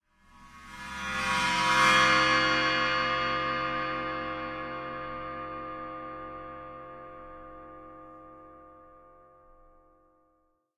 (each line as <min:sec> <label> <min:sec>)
0:00.1 Bowed cymbal 0:08.9